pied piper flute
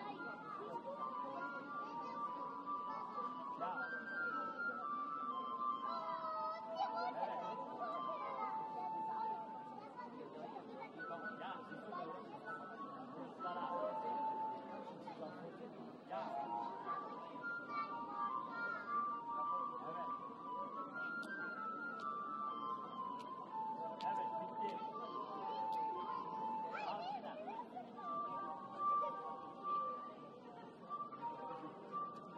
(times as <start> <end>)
0.1 9.7, 16.2 27.1, 30.8 32.3